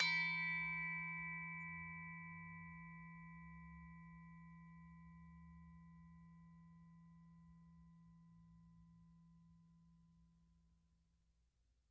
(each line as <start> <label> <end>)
0.0 gamelan 1.0